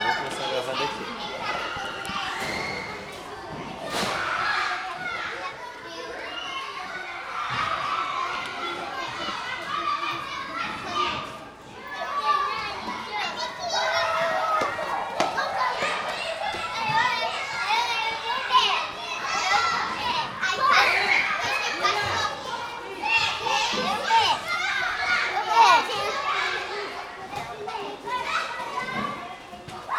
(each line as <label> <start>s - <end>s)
Children playing, running, yelling, talking 0.0s - 29.9s